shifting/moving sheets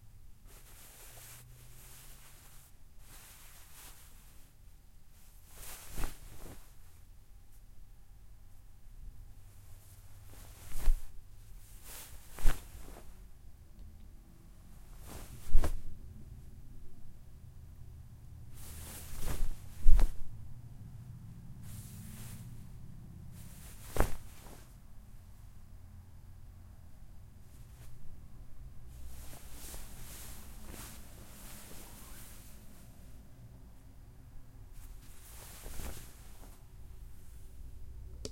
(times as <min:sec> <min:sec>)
0:00.4 0:04.6, 0:05.2 0:07.0, 0:09.6 0:13.3, 0:14.6 0:16.0, 0:18.5 0:20.4, 0:21.6 0:24.8, 0:27.5 0:28.2, 0:28.8 0:33.2, 0:34.7 0:37.4